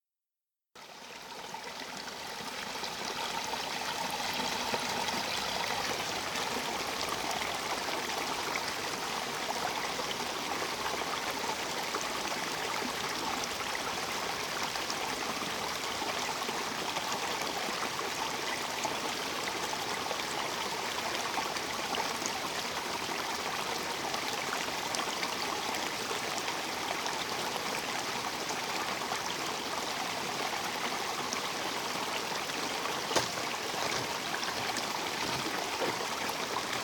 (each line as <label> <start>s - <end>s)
stream 0.8s - 36.8s